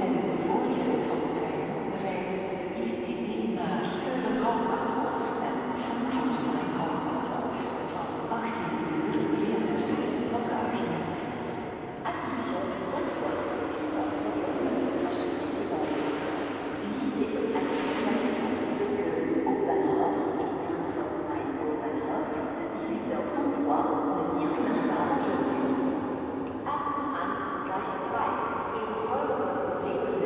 Announcements melting in the main station 0.0 - 25.8

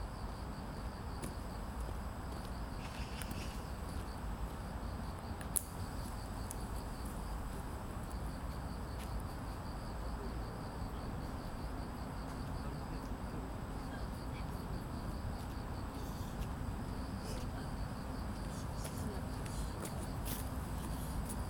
Cricket 0.0 - 21.4
Street 0.0 - 21.4

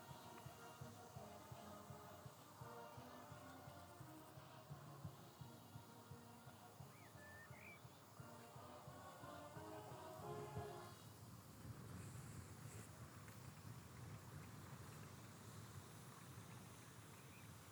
Brass band in distance 0.0 - 11.3

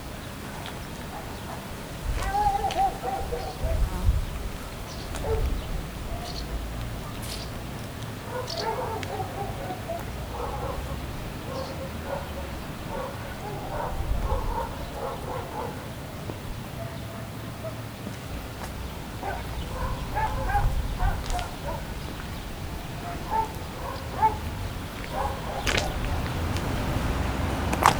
street dogs 0.0 - 27.9
tourists 0.0 - 27.9
traffic 0.0 - 27.9
busy bus stop 4.6 - 27.9
russian flags dance in the mild wind 15.9 - 27.9

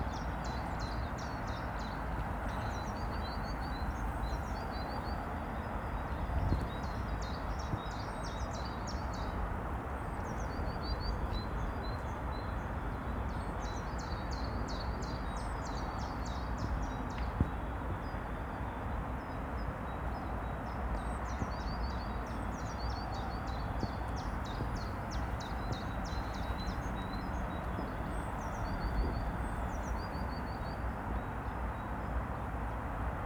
wind ruffling the microphones 2.2 - 7.9
wind ruffling the microphones 23.5 - 31.2

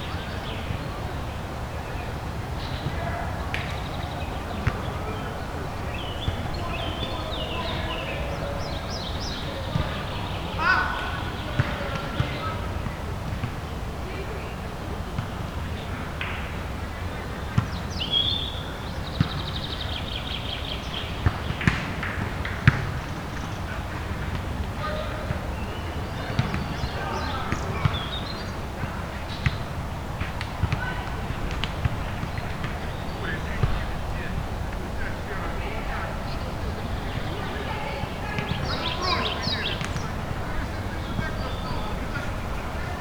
Birds 0.0 - 43.0
Volleyball 2.6 - 14.2
Volleyball 15.1 - 43.0

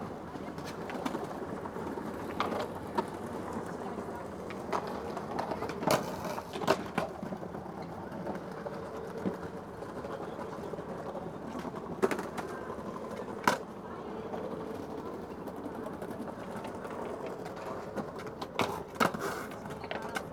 skaters practising 0.0 - 20.3

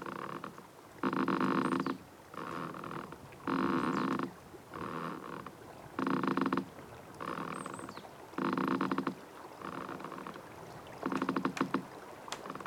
little river 0.0 - 12.6
moaning trees in wind 0.0 - 12.6

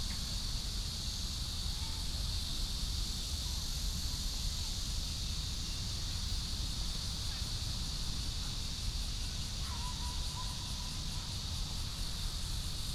Cicadas 0.0 - 12.9

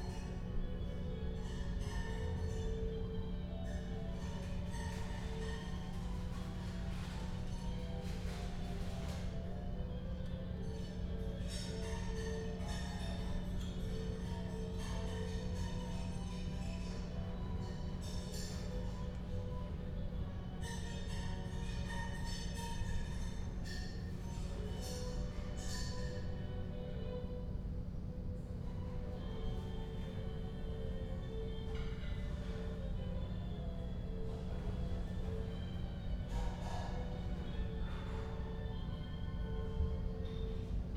classical music from a radio 0.2 - 40.9

